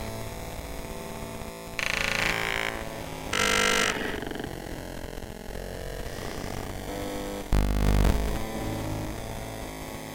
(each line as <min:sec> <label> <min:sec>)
0:01.8 synth 0:04.6
0:01.8 internal sound card noise 0:04.9
0:07.5 internal sound card noise 0:08.5